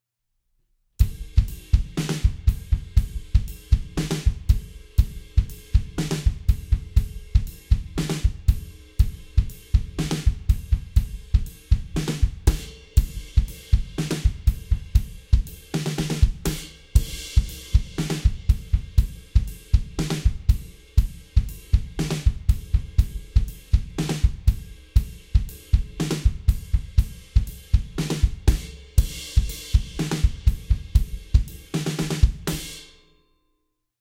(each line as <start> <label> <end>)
1.2 drum loops 32.6